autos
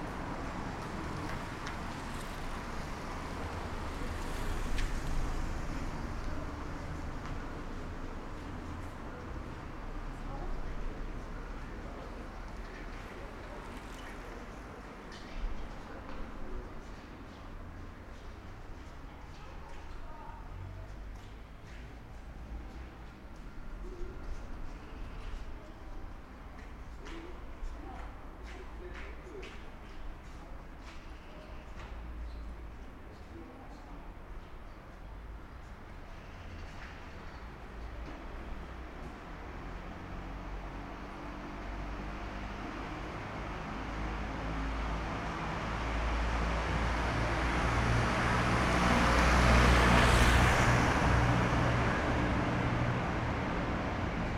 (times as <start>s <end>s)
35.2s 54.3s